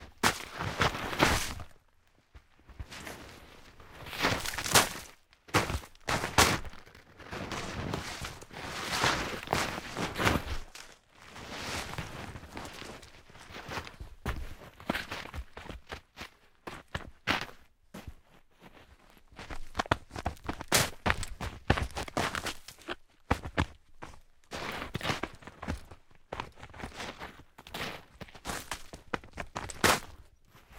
footsteps heavy rubber boots 0.0 - 30.7

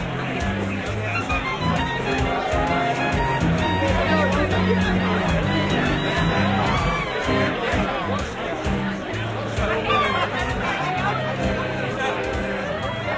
band playing to the left 0.0 - 13.1
large crowd 0.0 - 13.1

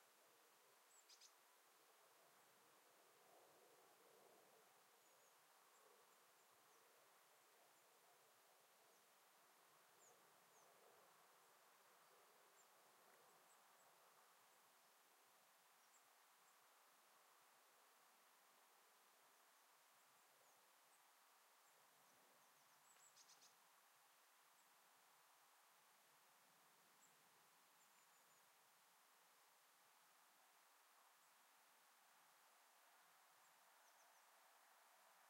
birds 0.8 - 1.4
birds 3.2 - 17.2
birds 19.0 - 25.0
birds 26.9 - 28.6
birds 32.9 - 35.2

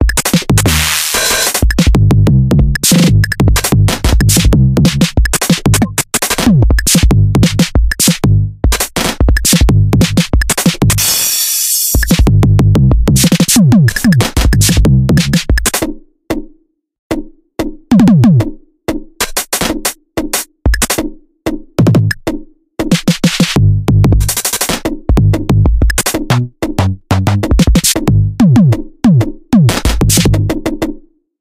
breakbeat 0.0 - 15.9
breakbeat 17.9 - 18.6
breakbeat 19.2 - 21.1
breakbeat 21.8 - 30.7

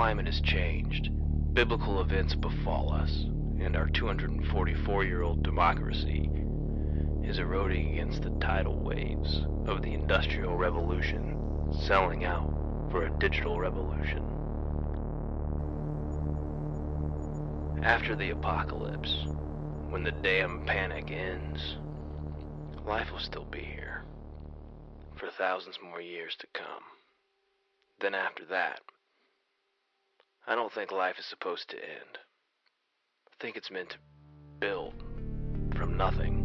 poetry 0.0 - 14.3
music 0.0 - 25.2
poetry 17.8 - 19.3
poetry 19.9 - 21.8
poetry 22.8 - 24.0
poetry 25.2 - 27.0
poetry 28.0 - 28.9
poetry 30.4 - 32.3
poetry 33.3 - 34.0
music 33.9 - 36.4
poetry 34.6 - 35.0
poetry 35.6 - 36.4

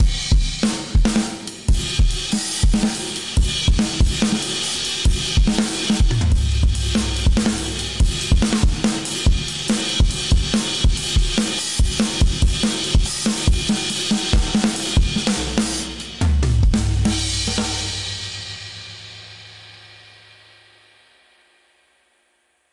Hi Hat 0.0 - 19.5

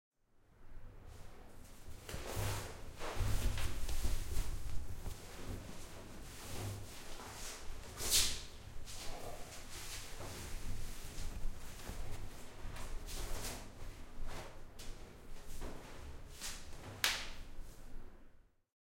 taking off my clothes 2.1 - 16.8

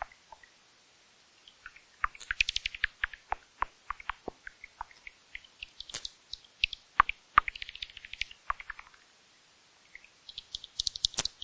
Bats 1.5 - 9.0
Bats 9.9 - 11.4

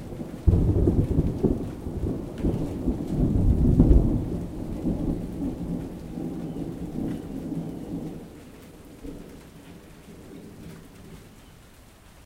Lightning strikes and makes thunder 0.4 - 6.4

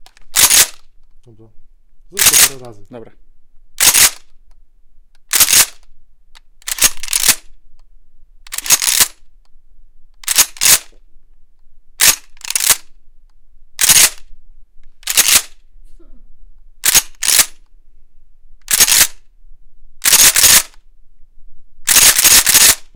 reload 0.0 - 0.9
reload 2.2 - 2.6
reload 3.8 - 4.3
reload 5.3 - 5.9
reload 6.6 - 7.5
reload 8.5 - 9.2
reload 10.2 - 10.9
reload 12.0 - 12.9
reload 13.8 - 14.3
reload 15.0 - 15.6
reload 16.8 - 17.6
reload 18.6 - 19.2
reload 20.0 - 20.8
reload 21.9 - 22.9

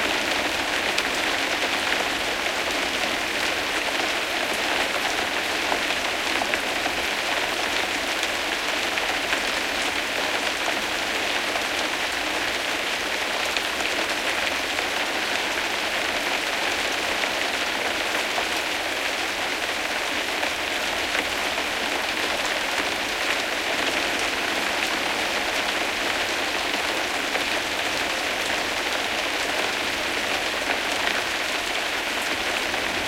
Moderate rain 0.0 - 33.0

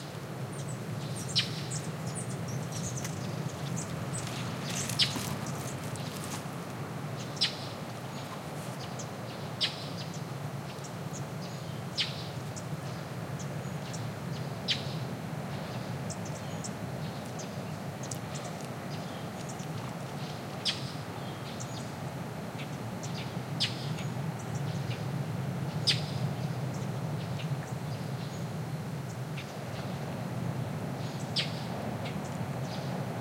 ocean noise in far background 0.0 - 33.2
birds calling 0.6 - 10.2

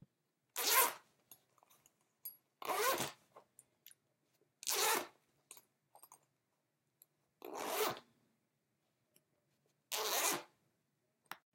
zipper 0.6 - 1.1
zipper 2.6 - 3.2
zipper 4.6 - 5.2
zipper 7.4 - 8.1
zipper 9.9 - 10.6

